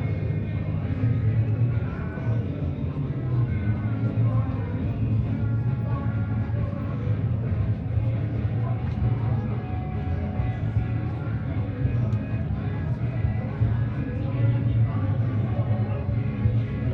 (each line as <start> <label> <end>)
0.0 multiple parties 16.9